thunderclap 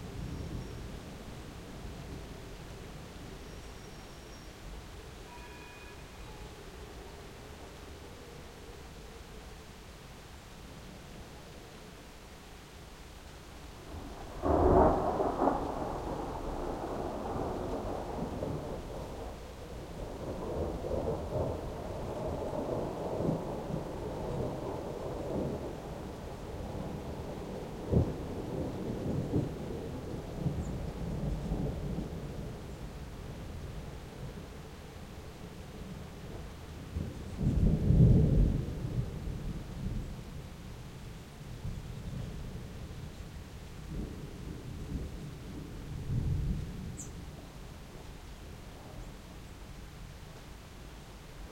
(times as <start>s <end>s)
13.9s 32.6s, 36.9s 40.1s